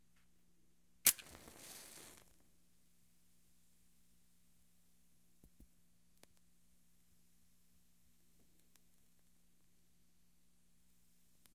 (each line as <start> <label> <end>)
1.0 strike of a match 2.4
1.0 fire 2.5